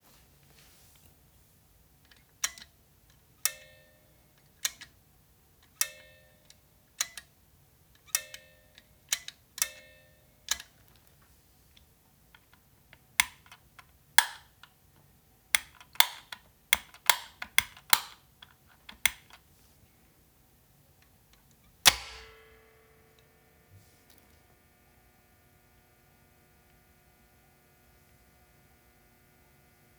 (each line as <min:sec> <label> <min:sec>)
0:02.0 click 0:03.7
0:04.4 click 0:05.0
0:05.6 click 0:07.3
0:10.5 click 0:11.2
0:21.0 click 0:23.3
0:21.7 contactor opening and closing 0:22.6